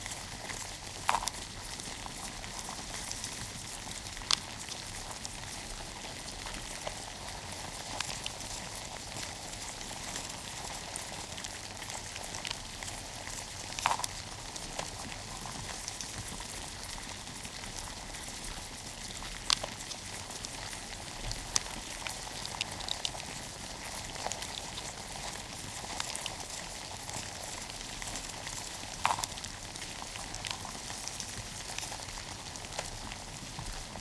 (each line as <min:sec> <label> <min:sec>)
0:00.0 box of cockroaches crawling 0:34.0